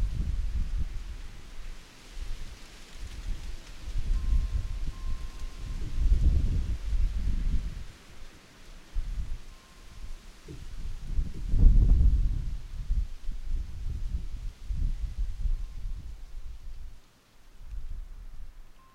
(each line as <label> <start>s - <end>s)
wind 0.0s - 18.9s
wind chimes 4.0s - 7.9s
wind chimes 9.1s - 10.4s
wind chimes 18.7s - 18.9s